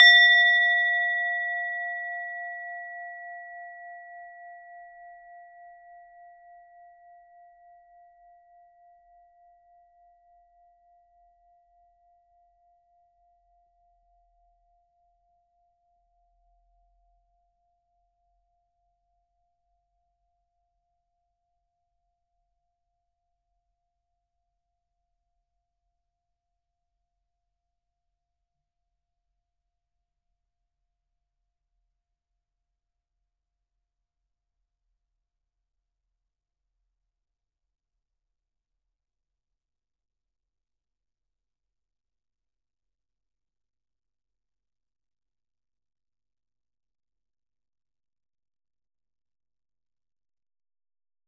0.0s Tibetan singing bowl struck with a wooden beater 6.8s

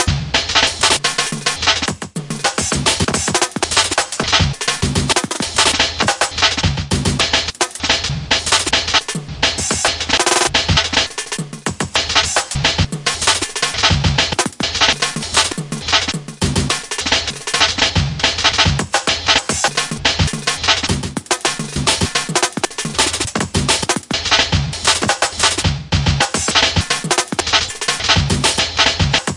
0.0s Drums 29.3s

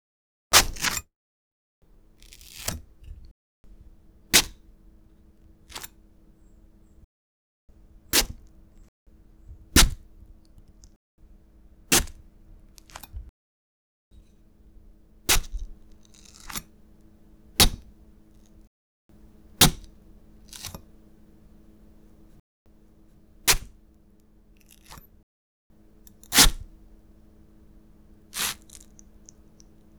2.2s watermelon meat being cut or stabbed with a knife 2.9s
8.1s watermelon meat being cut or stabbed with a knife 8.5s
9.8s watermelon meat being cut or stabbed with a knife 10.1s
11.9s watermelon meat being cut or stabbed with a knife 12.2s
15.3s watermelon meat being cut or stabbed with a knife 16.7s
17.5s watermelon meat being cut or stabbed with a knife 18.0s
19.2s watermelon meat being cut or stabbed with a knife 22.0s
23.4s watermelon meat being cut or stabbed with a knife 23.8s
24.6s watermelon meat being cut or stabbed with a knife 25.1s
26.1s watermelon meat being cut or stabbed with a knife 26.8s
28.2s watermelon meat being cut or stabbed with a knife 29.8s

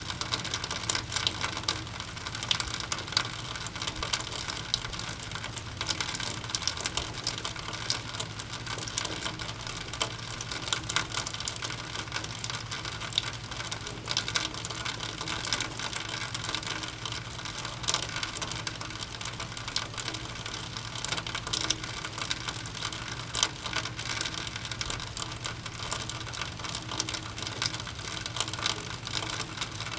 0.0s Rainwater Exiting a Roof Duct 29.9s
0.0s slight sound of Rain in the Background 29.9s

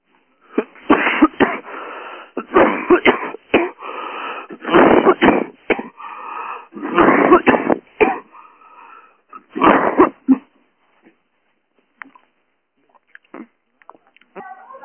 0.5s Coughing 1.7s
2.4s Coughing 3.9s
4.5s Coughing 8.4s
9.3s Coughing 10.6s
13.3s Coughing 13.6s

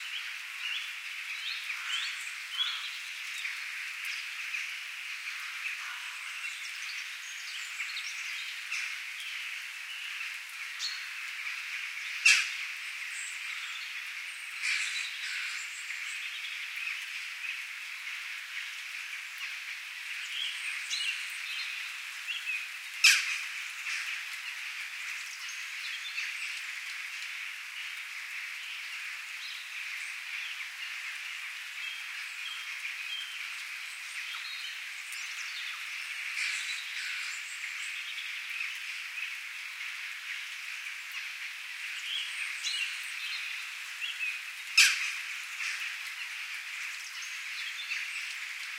0.0s light rain 48.7s
0.0s bird sounds 48.7s

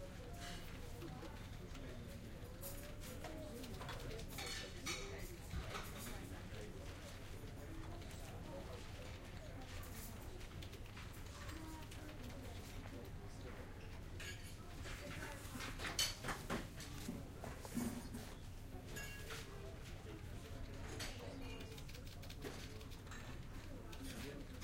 0.0s people using the internet terminals 24.6s

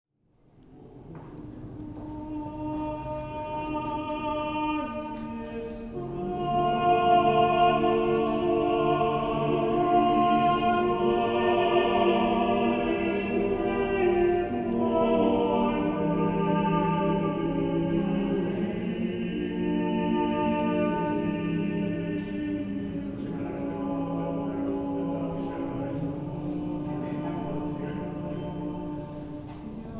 1.8s Male vocal ensemble 29.9s

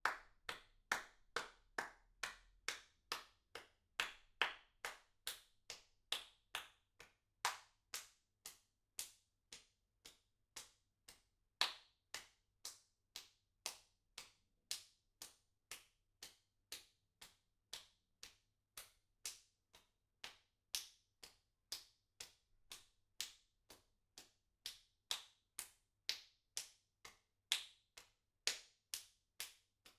0.0s Applause 5.4s

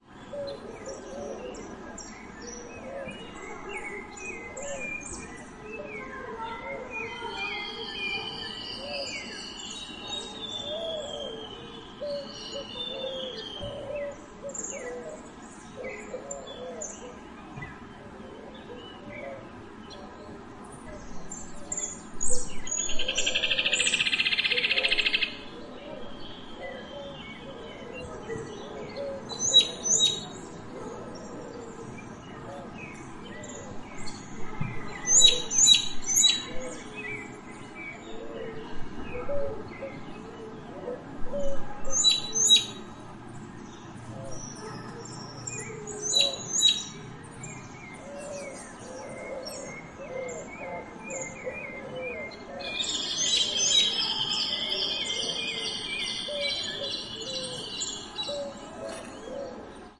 0.0s birds 59.9s

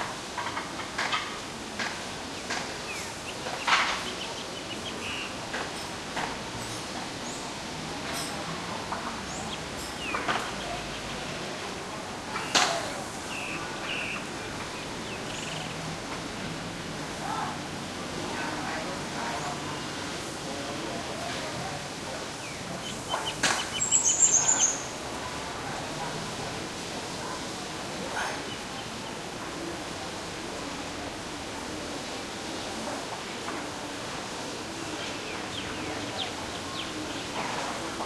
0.0s voices 38.0s
1.8s birds 15.9s
20.9s birds 26.1s
27.3s birds 29.7s
34.8s birds 38.0s

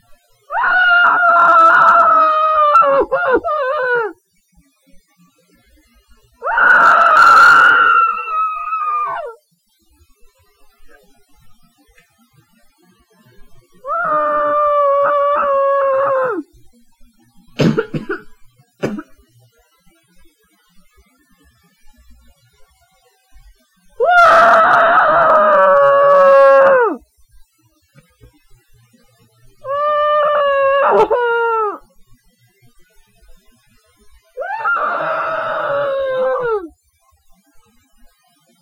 0.5s screaming into a pillow 4.2s
6.4s screaming into a pillow 9.4s
13.8s screaming into a pillow 16.5s
24.0s screaming into a pillow 27.0s
29.6s screaming into a pillow 31.8s
34.4s screaming into a pillow 36.7s

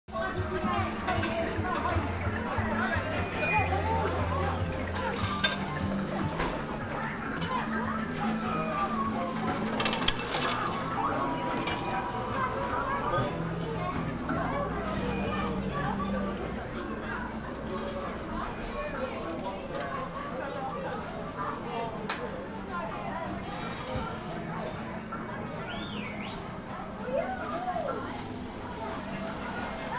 0.1s slot machines 20.2s
22.9s slot machines 29.9s

